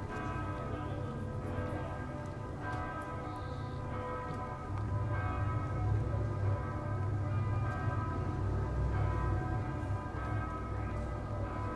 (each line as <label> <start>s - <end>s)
church bells 0.0s - 11.7s
people walking by 0.0s - 11.7s
bus and car traffic 3.6s - 11.7s